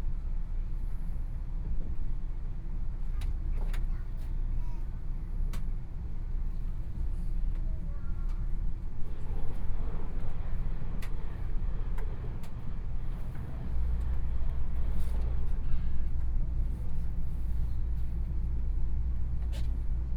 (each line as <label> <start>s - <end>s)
Interior of the train 0.0s - 20.1s